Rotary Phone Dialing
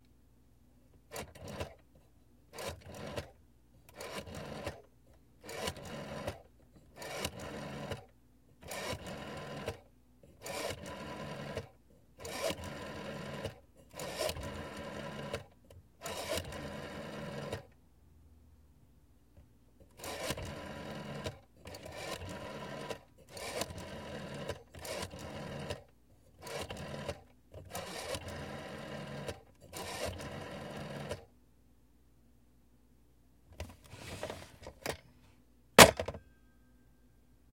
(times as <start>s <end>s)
3.9s 4.8s, 5.4s 8.0s, 8.6s 17.7s, 19.9s 31.2s